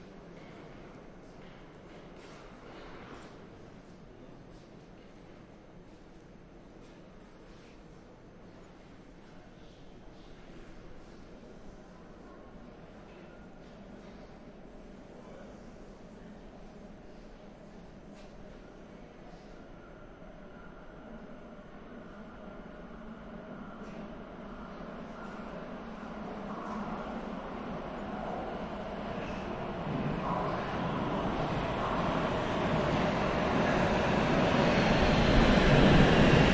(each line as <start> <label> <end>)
18.4 Train arrival 36.5